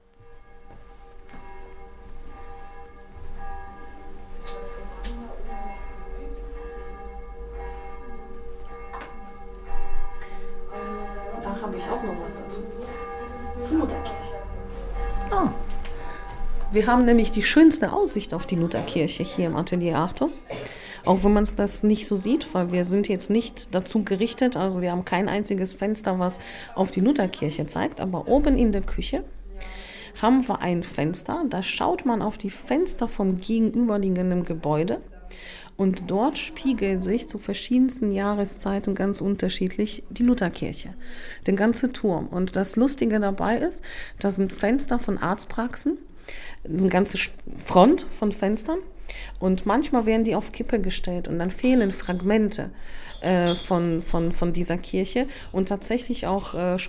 guided tour 0.0 - 56.8

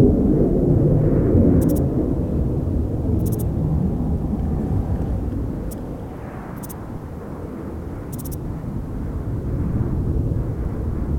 low flying aircraft 0.0 - 11.1
insects 1.4 - 2.0
traffic 2.8 - 8.6
insects 3.0 - 9.1

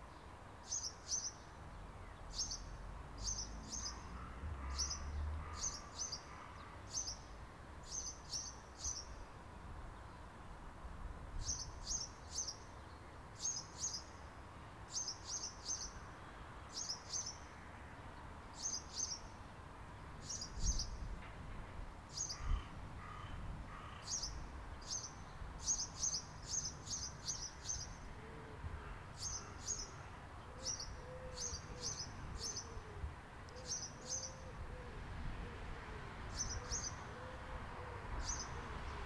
Birds 0.0 - 9.2
traffic 0.0 - 39.0
Birds 22.1 - 35.7
Birds 36.3 - 39.0

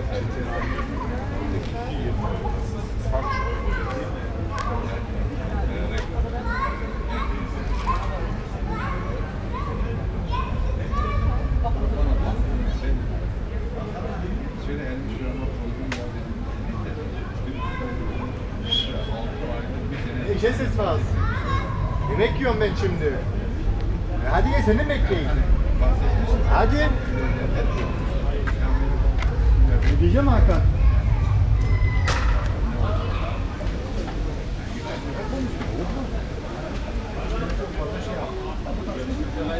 people talking 0.0 - 39.5
child voices 3.2 - 4.0
child voices 6.4 - 8.0
cars passing by 19.9 - 36.5
child voices 21.2 - 22.1

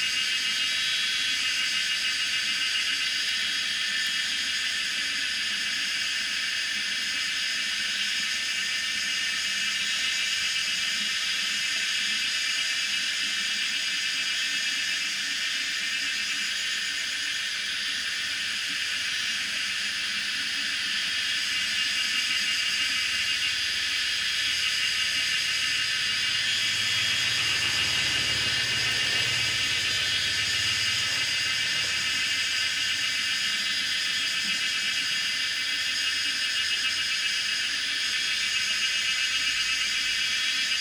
water 20.2 - 37.8
Cicadas cry 20.8 - 37.2
Traffic Sound 22.6 - 34.4

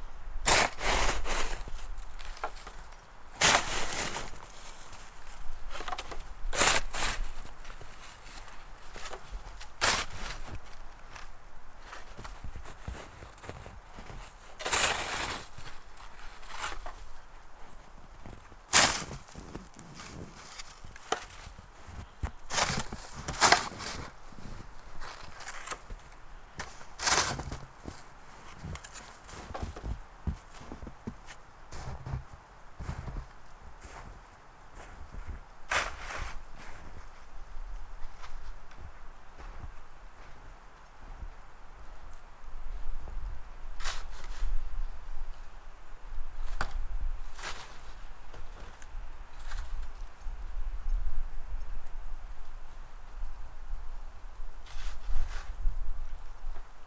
shovelling a path 0.4 - 17.1
Snowflakes 0.4 - 17.1
shovelling a path 18.2 - 34.2
Snowflakes 34.8 - 37.0
shovelling a path 34.8 - 37.0
shovelling a path 43.8 - 44.6
shovelling a path 46.6 - 48.8

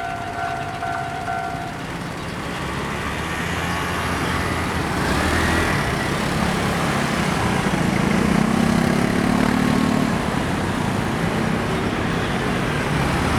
Train traveling through 0.0 - 13.3

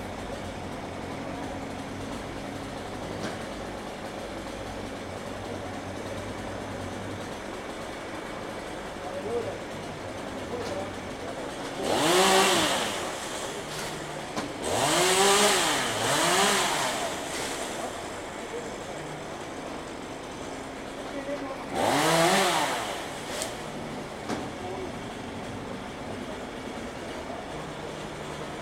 truck crane 0.0 - 28.6
chainsaw 0.0 - 28.6
People talking in the background 8.8 - 11.9
People talking in the background 15.8 - 22.2
People talking in the background 23.1 - 28.6

